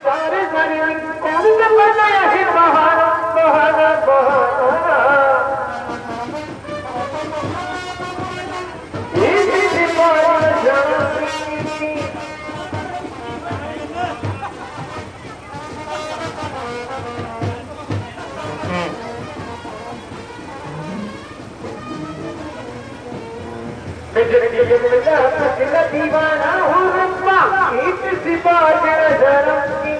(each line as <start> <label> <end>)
0.3 corteo starting 29.9
5.7 human activity 29.9